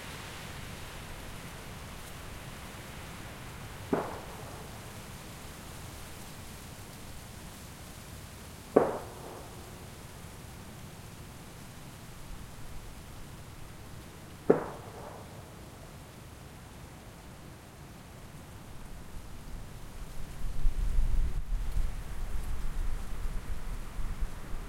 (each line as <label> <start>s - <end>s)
Distant traffic 3.0s - 6.1s
Not-so-distant gunshots 3.9s - 4.9s
Not-so-distant gunshots 8.8s - 10.0s
Distant traffic 8.8s - 10.6s
Distant traffic 12.8s - 16.1s
Not-so-distant gunshots 14.5s - 15.6s
wind gusts 18.8s - 24.6s